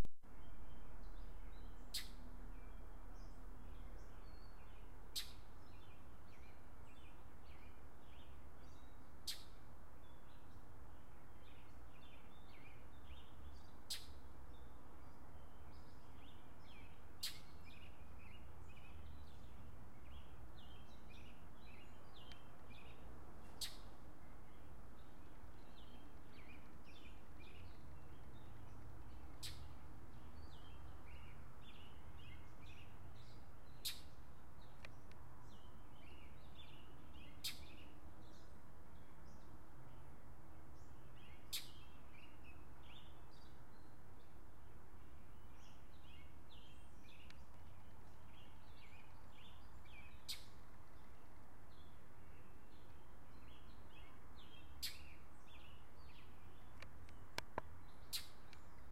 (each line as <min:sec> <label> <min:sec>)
0:00.0 Birds 0:58.9